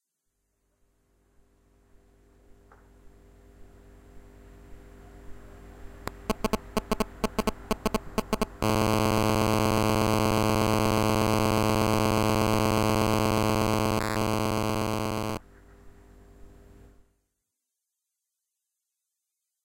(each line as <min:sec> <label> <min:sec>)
0:06.1 cell phone interference with speaker 0:15.4